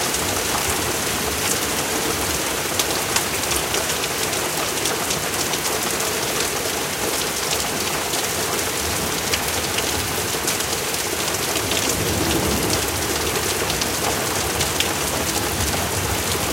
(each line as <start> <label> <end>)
0.0 Heavy Rain 16.5
11.4 Thunder 16.5